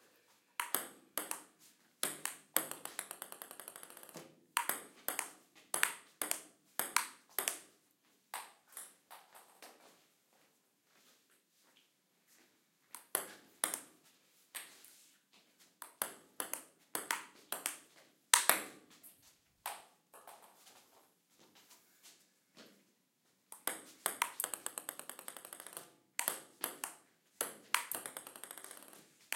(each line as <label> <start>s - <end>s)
Ping-pong sounds 0.6s - 7.7s
Ping-pong sounds 13.0s - 13.9s
Ping-pong sounds 15.8s - 18.8s
Ping-pong sounds 23.5s - 29.3s